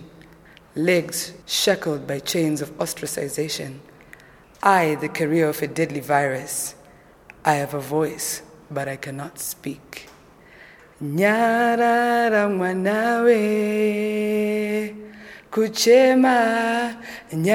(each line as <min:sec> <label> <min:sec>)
0:00.0 recites a poem 0:17.5